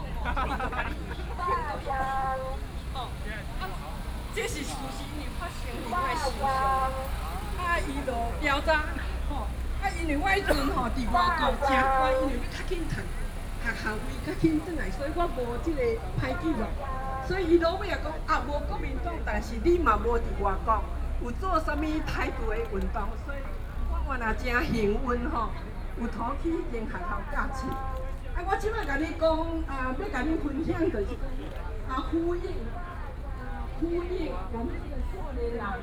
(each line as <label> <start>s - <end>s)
Protest 0.0s - 21.3s